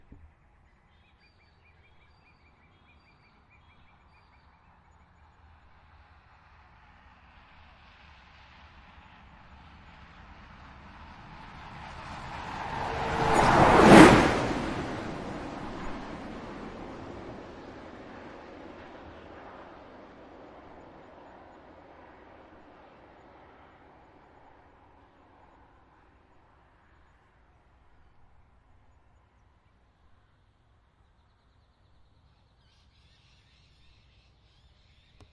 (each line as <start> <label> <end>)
6.0 bus going past on tracks 19.7